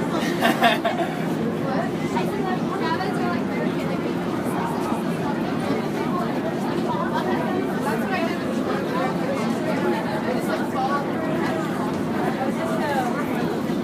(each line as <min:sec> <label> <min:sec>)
0:01.6 conversation 0:13.2